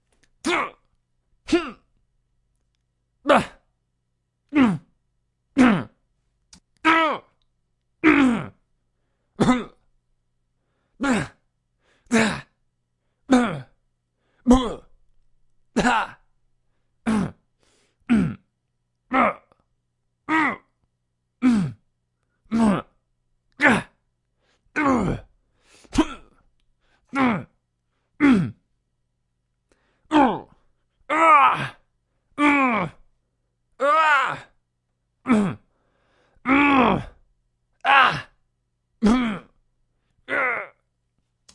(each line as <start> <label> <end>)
0.4 yell 0.8
0.4 short and long grunts 1.9
3.2 short and long grunts 3.7
3.3 yell 3.6
4.5 short and long grunts 5.0
5.6 short and long grunts 6.0
6.8 yell 7.3
8.0 short and long grunts 8.6
9.4 short and long grunts 9.9
11.0 short and long grunts 11.4
12.1 short and long grunts 12.6
13.3 short and long grunts 13.8
14.4 short and long grunts 15.0
15.8 yell 16.2
15.8 short and long grunts 16.2
17.0 short and long grunts 18.5
19.1 yell 19.5
19.1 short and long grunts 19.6
20.3 yell 20.7
21.4 short and long grunts 21.9
22.5 short and long grunts 23.0
23.6 yell 24.0
23.6 short and long grunts 24.0
24.7 short and long grunts 25.3
24.8 yell 25.3
25.9 short and long grunts 26.4
27.1 short and long grunts 27.6
28.2 short and long grunts 28.7
30.1 short and long grunts 31.8
30.1 yell 30.5
31.1 yell 31.8
32.4 yell 33.0
32.4 short and long grunts 33.0
33.8 yell 34.6
35.2 short and long grunts 35.7
36.4 yell 37.2
36.4 short and long grunts 37.2
37.8 yell 38.4
37.8 short and long grunts 38.4
39.0 short and long grunts 39.6
40.2 short and long grunts 40.8
40.3 yell 40.8